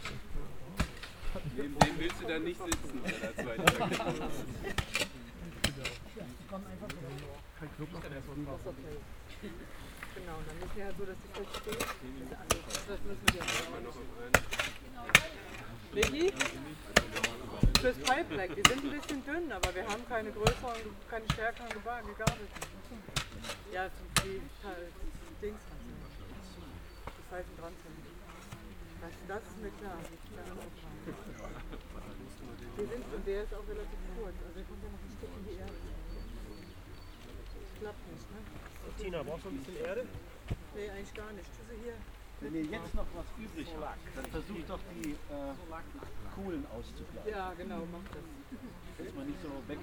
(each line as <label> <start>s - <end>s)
digging a hole 0.0s - 7.3s
conversations 0.0s - 49.8s
digging a hole 11.3s - 24.5s